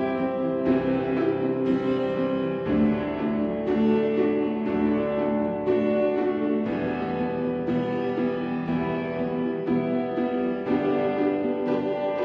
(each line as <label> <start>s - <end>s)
Piano 0.0s - 12.2s
Pizzicato and Staccato strings 0.0s - 12.2s